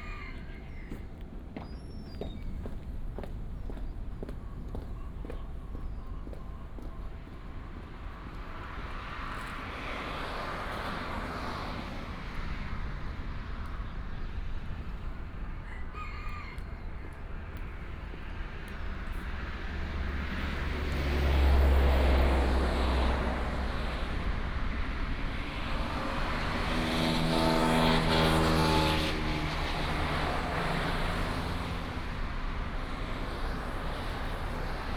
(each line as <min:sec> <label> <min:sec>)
0:00.0 Chicken crowing 0:01.0
0:00.0 Traffic sound 0:34.9
0:15.6 Chicken crowing 0:17.2